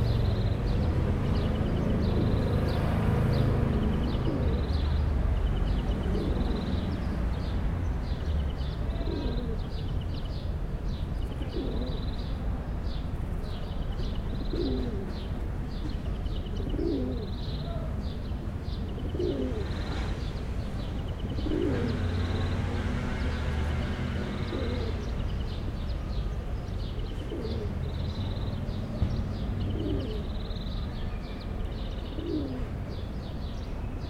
0.0s pigeons 10.3s
10.9s pigeons 12.2s
13.4s pigeons 25.2s
26.8s pigeons 28.2s
28.8s pigeons 30.8s
31.7s pigeons 34.0s

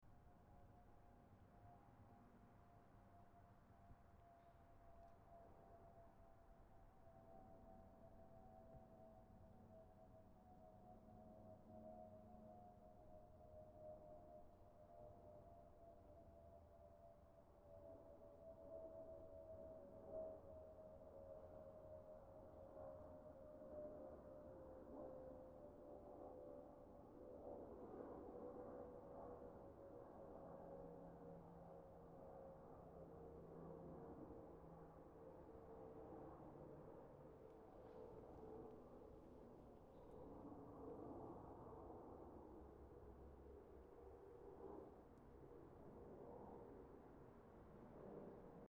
22.7s Flyover 48.6s

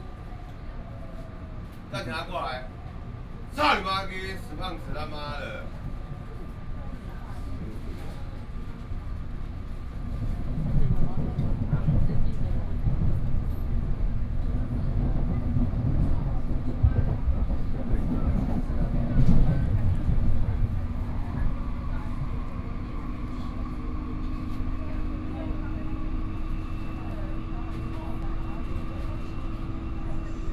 0.0s people chatting inside 30.5s

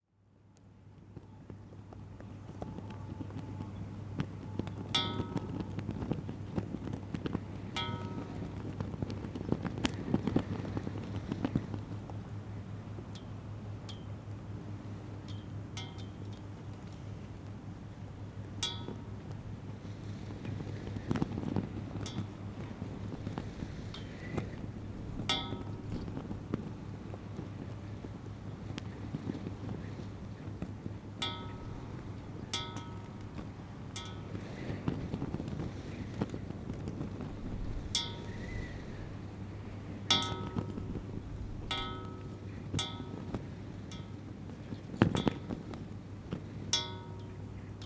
0.1s wind SW 24 km/h 47.8s
23.2s flagpole 26.7s
40.1s flagpole 44.2s

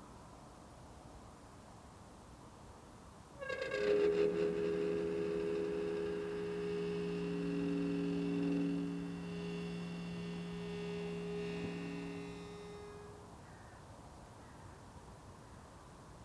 3.4s Gate of the cemetery slowly opened and closed 13.3s

